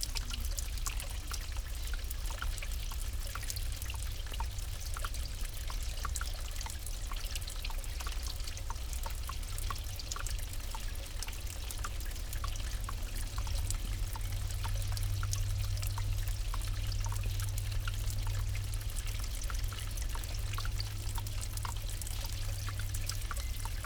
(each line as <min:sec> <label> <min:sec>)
0:00.0 water dripping 0:23.8